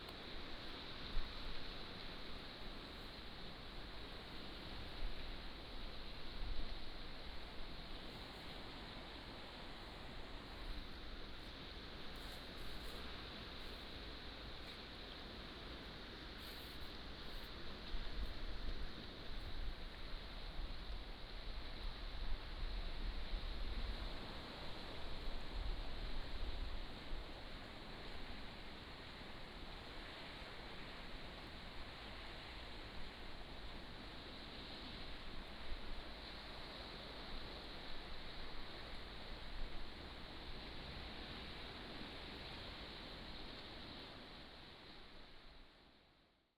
waves 0:00.0 - 0:46.0

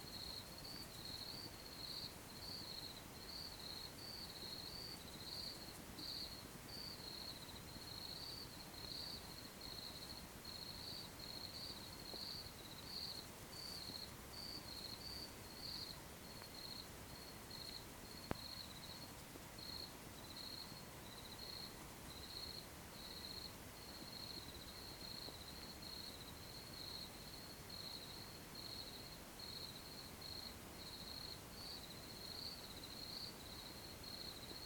Crickets 0:00.0 - 0:34.6

